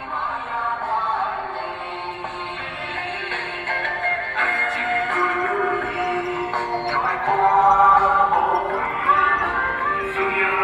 Election propaganda vehicles 0.0 - 10.6

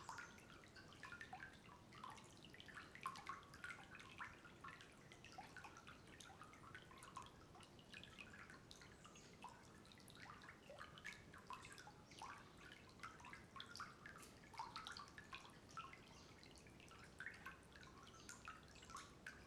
waters flow under the little bridge 0.0 - 19.4

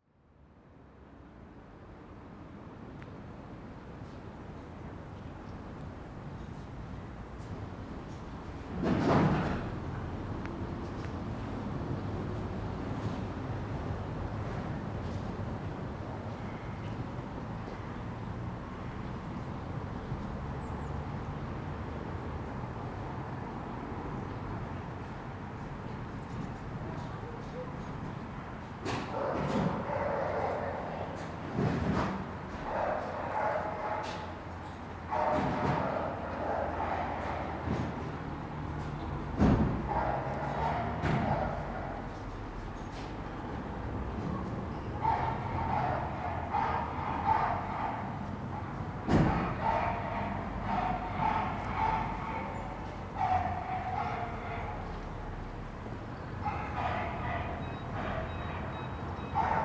cars 0.6 - 59.6
echo from dogs barking 29.0 - 31.3
echo from dogs barking 32.6 - 38.5
echo from dogs barking 39.6 - 42.3
echo from dogs barking 44.8 - 59.6

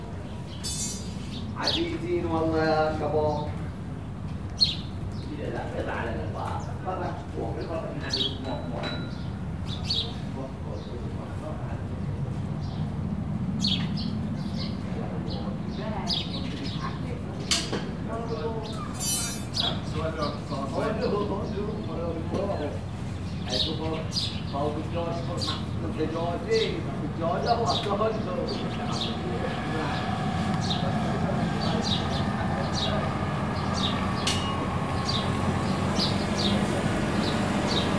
Fishermen making metal cages 0.6 - 1.8
Fishermen making metal cages 18.6 - 20.0
Fishermen making metal cages 33.9 - 37.9

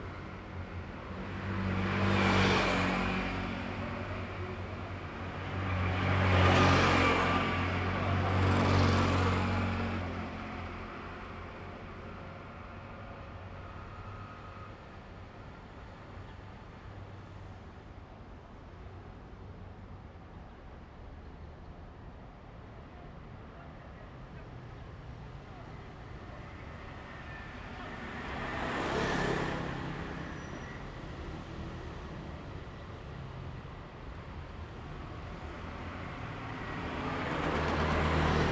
Traffic sound 24.4 - 38.5
Train traveling through 35.6 - 38.5

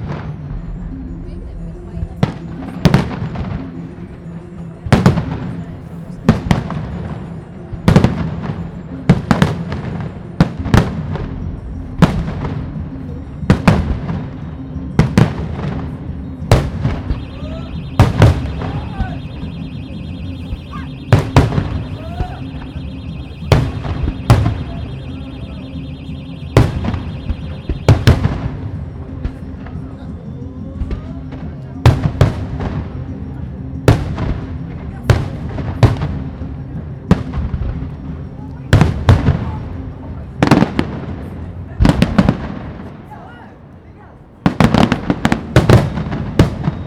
music 0.0 - 46.8
voices from the crowd 0.0 - 46.8
fireworks 7.9 - 14.4
fireworks 15.0 - 29.8
car alarm 16.3 - 29.4
fireworks 38.7 - 39.8
fireworks 40.4 - 43.0
fireworks 44.4 - 46.8

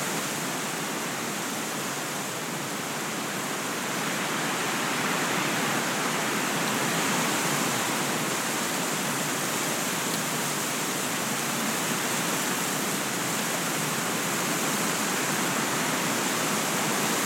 Wind, Weeds and Trees 0.0 - 17.2

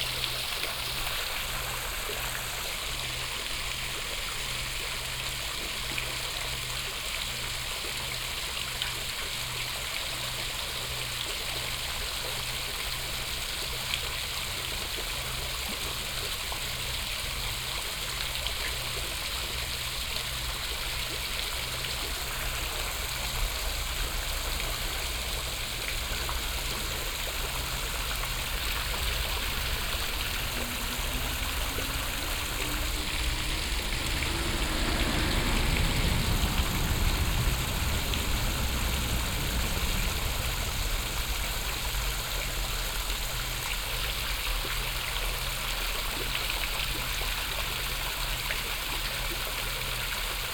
fountain 0.0 - 50.5
train passing by 14.5 - 50.5
traffic 18.2 - 45.3

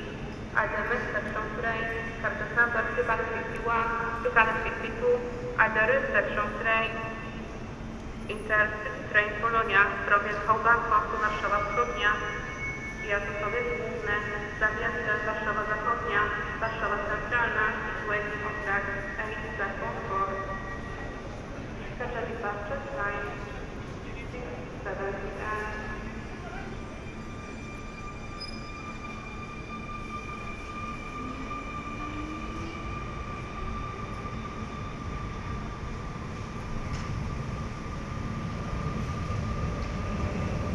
Platform announcements 8.3 - 20.9

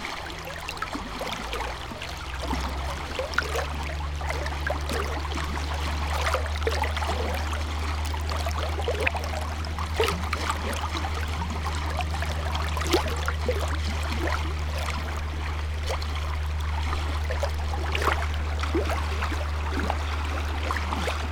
river 0.0 - 21.3

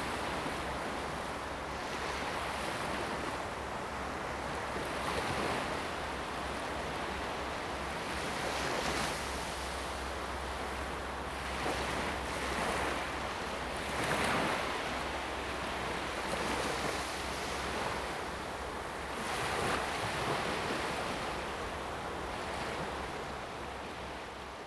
waves 0.0 - 24.6

